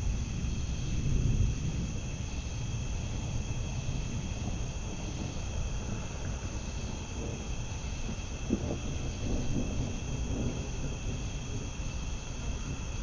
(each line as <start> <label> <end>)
0.0 Approaching thunderstorm 13.0